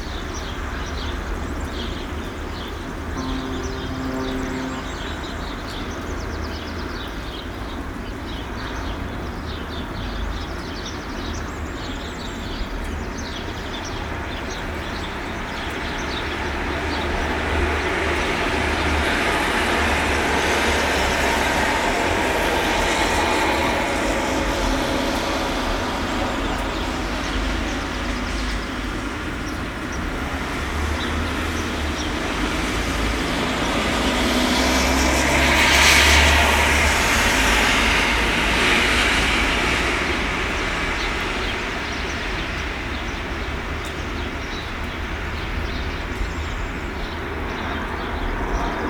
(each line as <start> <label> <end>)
0.0 rain 48.8
2.9 Dawn Chorus 6.8